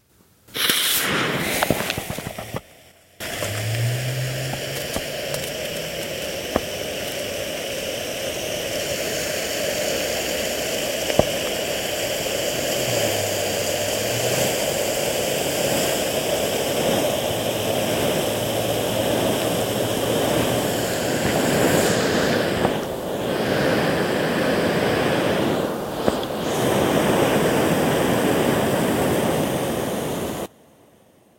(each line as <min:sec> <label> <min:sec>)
0:03.2 dymovnice 0:08.2